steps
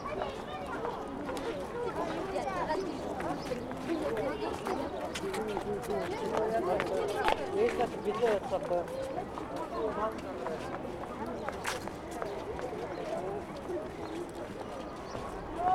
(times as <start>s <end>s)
3.2s 15.7s